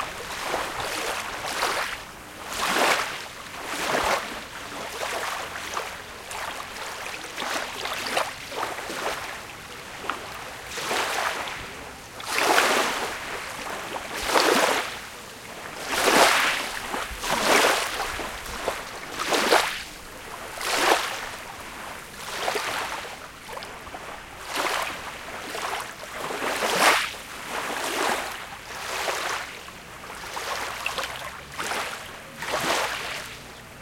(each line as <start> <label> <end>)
0.0 Wind 33.8
0.0 waves 33.8